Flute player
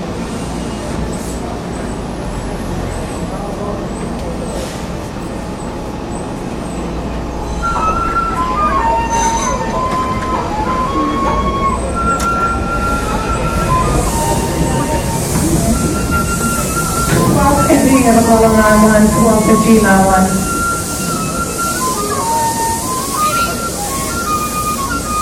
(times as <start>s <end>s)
7.5s 25.2s